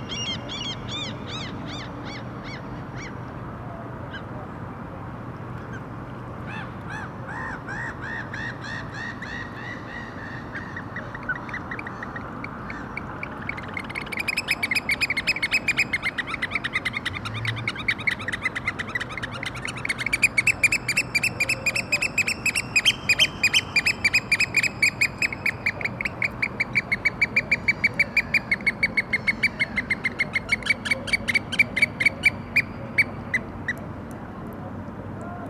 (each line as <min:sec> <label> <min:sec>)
0:00.0 night sounds in boat marina 0:35.4